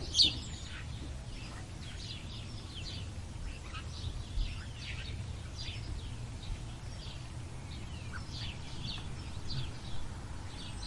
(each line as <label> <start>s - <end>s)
blue tit 0.0s - 10.8s
sparrows 0.0s - 10.8s
wind noise 4.0s - 10.8s